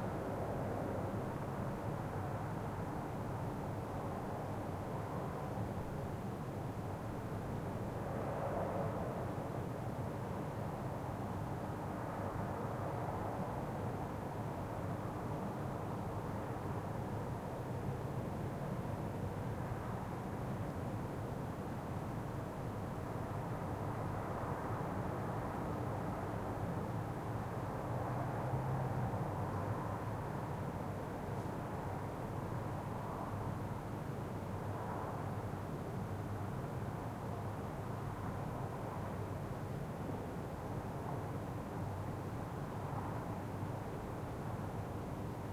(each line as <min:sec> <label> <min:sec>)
0:00.0 wind 0:45.5